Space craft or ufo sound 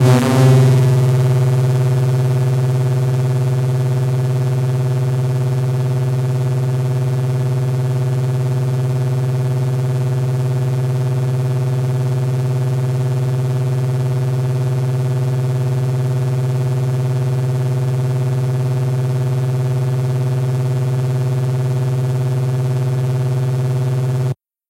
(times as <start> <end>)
0.0 3.2